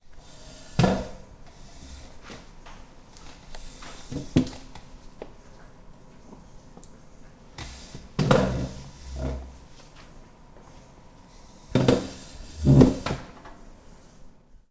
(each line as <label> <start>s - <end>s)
friction of the chair to the floor 8.2s - 9.9s
friction of the chair to the floor 11.7s - 13.3s